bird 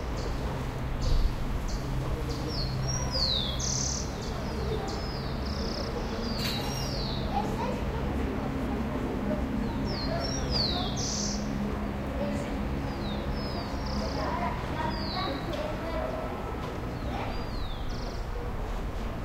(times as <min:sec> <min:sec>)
0:01.0 0:07.6, 0:09.6 0:11.6, 0:16.9 0:18.5